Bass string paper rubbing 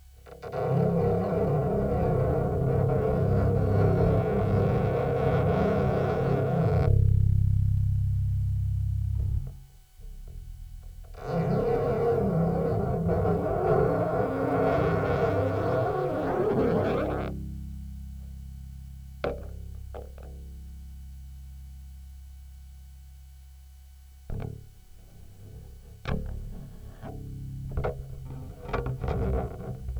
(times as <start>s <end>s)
0.0s 7.3s, 9.2s 17.4s, 25.1s 29.9s